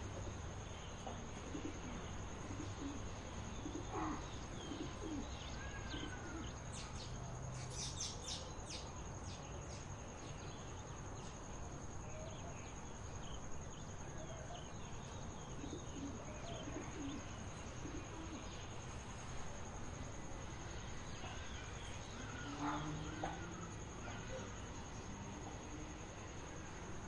0.0s quiet suburb noise 27.0s
0.1s birds 19.6s
20.5s birds 25.1s

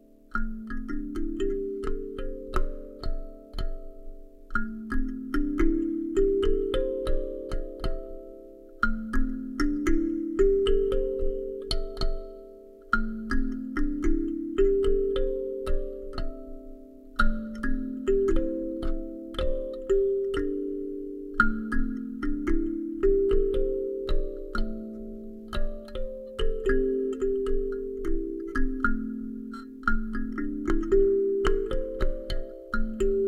0.0s Kalimba wooden 33.2s

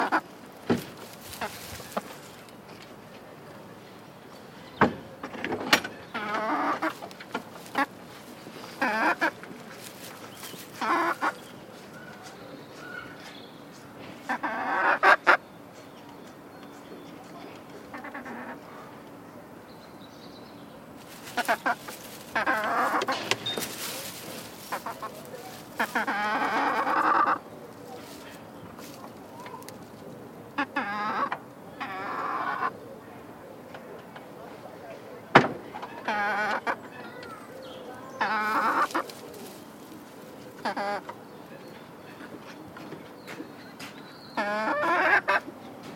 0.0s Chicken 0.3s
1.0s Chicken 2.4s
6.0s Chicken 15.4s
16.8s Chicken 19.0s
21.0s Chicken 33.0s
33.6s Chicken 45.6s

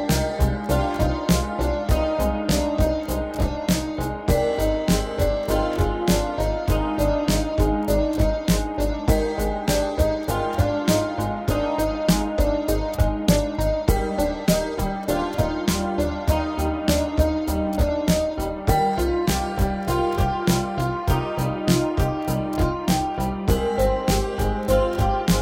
0.0s drum 25.4s
0.0s pad 25.4s
0.0s piano 25.4s

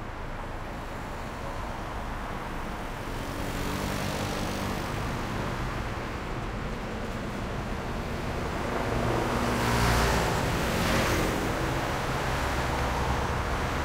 0.0s medium speed cars 13.8s
3.1s motorcycle 5.2s

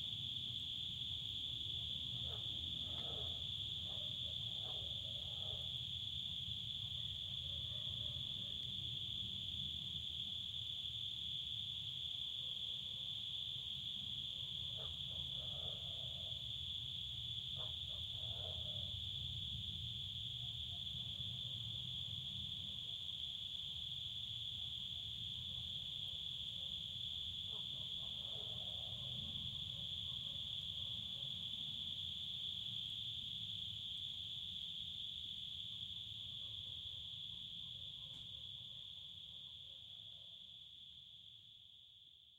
2.1s distant dog barkings 5.8s
7.9s crickets singing 39.6s
14.6s distant dog barkings 16.4s
17.5s distant dog barkings 19.0s
26.1s distant dog barkings 31.5s

